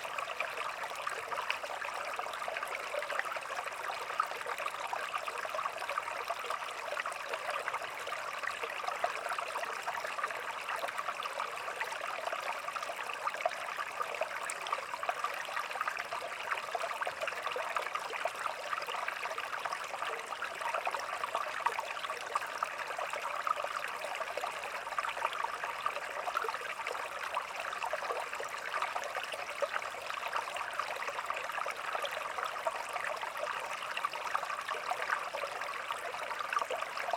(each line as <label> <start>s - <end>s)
Small stream running 0.0s - 37.1s